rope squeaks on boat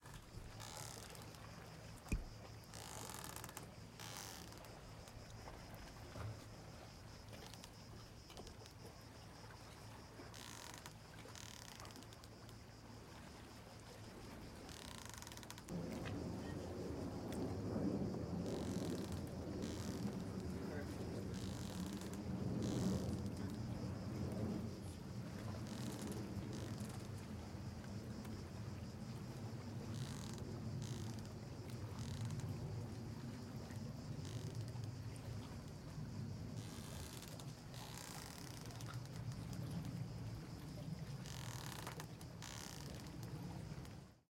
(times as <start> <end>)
0.0 6.4, 10.2 12.3, 14.6 15.7, 18.4 23.6, 25.5 27.2, 29.9 31.3, 36.6 39.2, 41.2 43.3